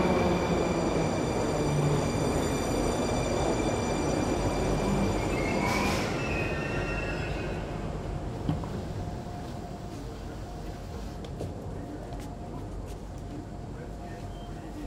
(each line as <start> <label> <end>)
0.0 metro train announcement 14.8